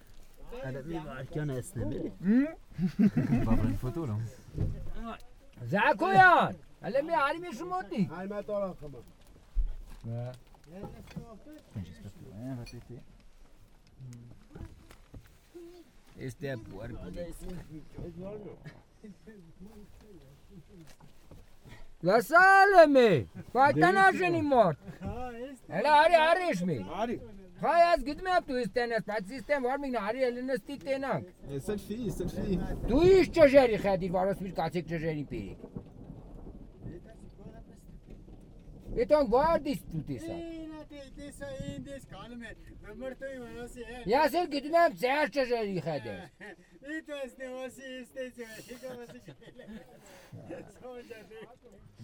violent storm 0.0 - 10.4
violent storm 21.6 - 46.4
farmer called Samo is speaking so loud 22.0 - 24.7

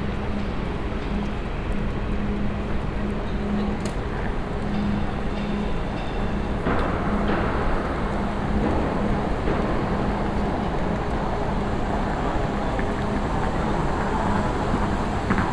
footwalk thru the station 0.0 - 15.5

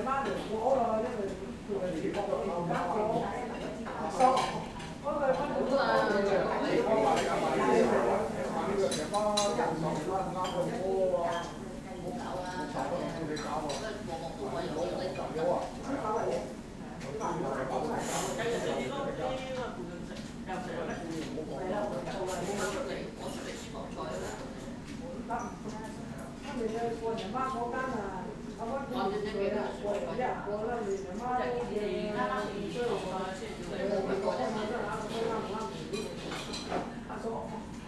restaurant crew cutting vegetables 6.9 - 18.8
restaurant crew cutting vegetables 20.0 - 27.4

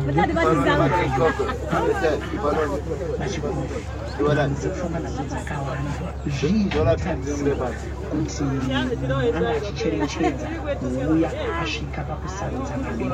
passenger says a prayer 0.0 - 13.1

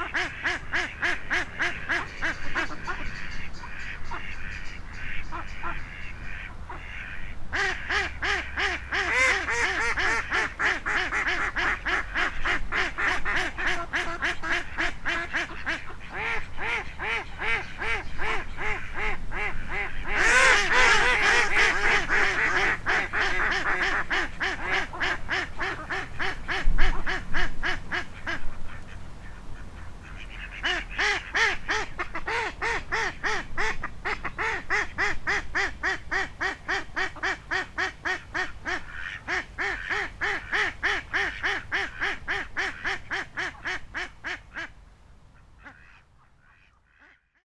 Ducks 0.0 - 47.4

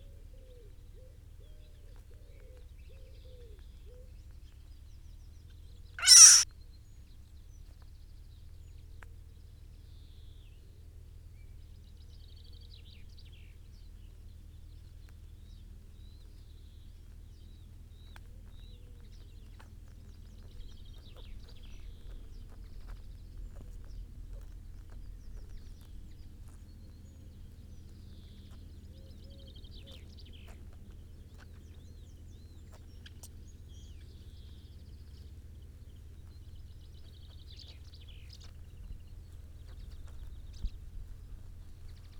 Mole 6.0 - 6.4

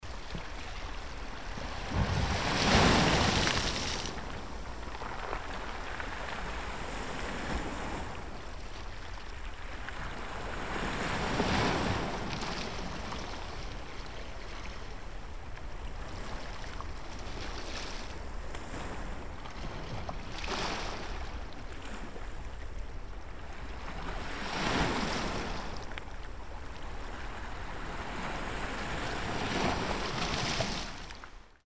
Sea splashing on the beach 0.5 - 8.3

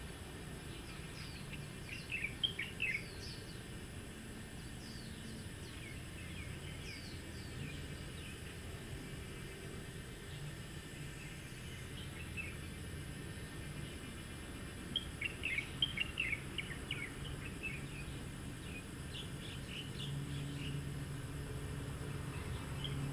Cicadas sound 0.0 - 23.1
Traffic Sound 18.2 - 23.1

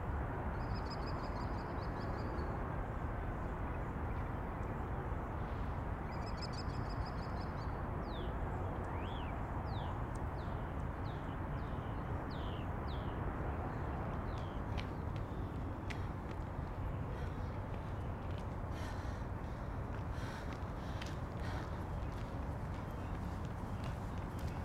Freeways 13.0 - 24.6
joggers 14.1 - 24.6

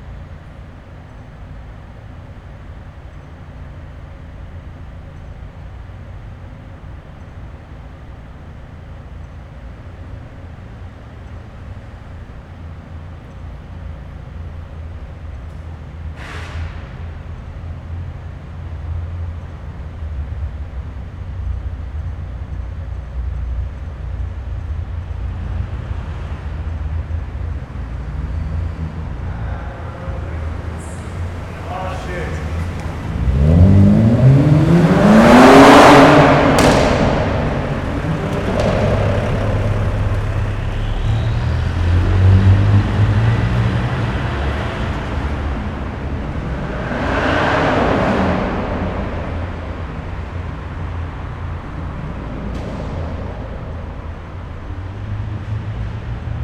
Vehicles driving inside a parking garage 0.0 - 56.4

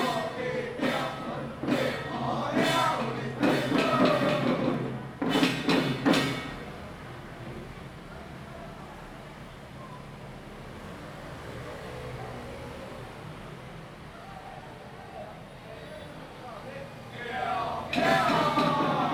Traditional troupes 0.0 - 6.6
Traditional troupes 17.2 - 19.1

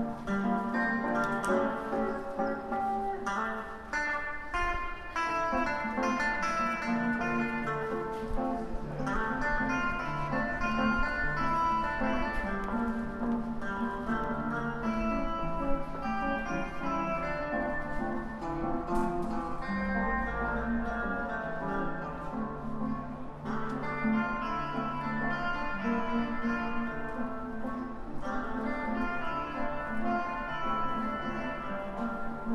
Street musician playing his guitar 0.0 - 32.5

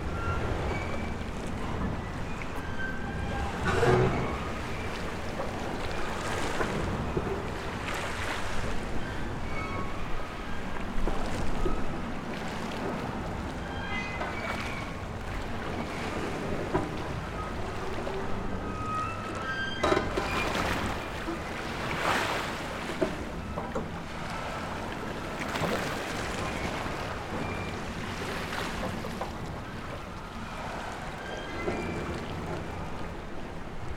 mettalic harbour creeaking in the background 0.0 - 33.9
Waves crashing against the shore 20.2 - 33.9

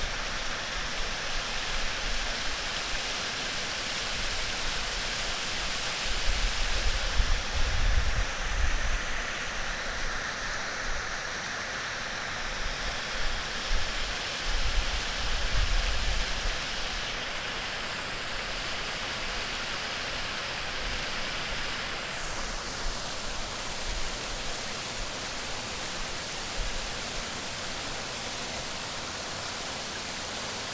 Small waterfall 0.0 - 30.7

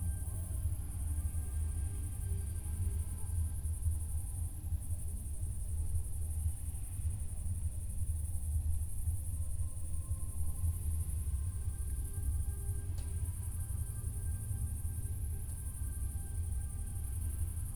cricket 0.0 - 17.7
music from a distant party 0.0 - 17.7

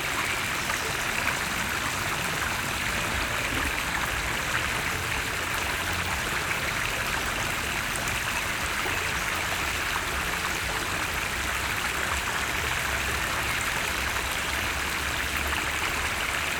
river 0.0 - 16.5

